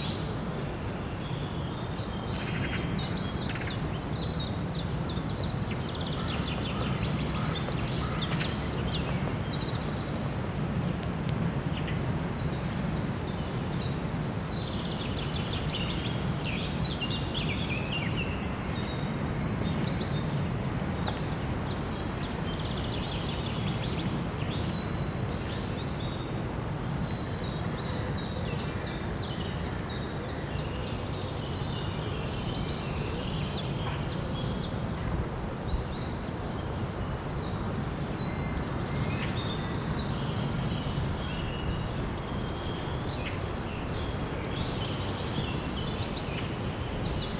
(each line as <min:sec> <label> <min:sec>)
0:00.0 Morning birds 0:47.3